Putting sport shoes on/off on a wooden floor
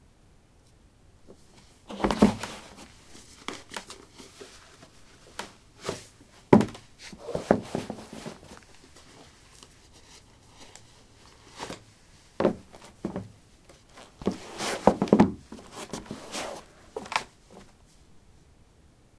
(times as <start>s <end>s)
1.8s 9.2s, 12.4s 17.8s